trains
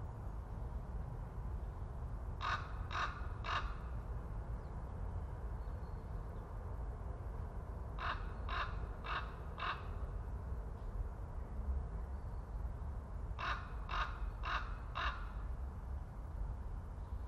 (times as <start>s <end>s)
4.0s 13.4s